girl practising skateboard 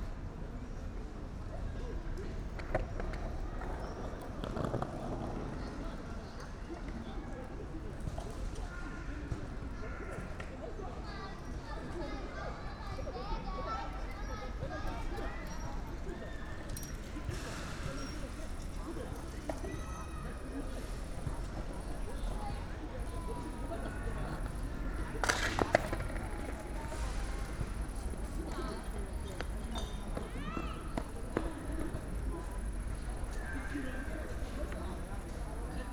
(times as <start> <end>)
23.0 28.0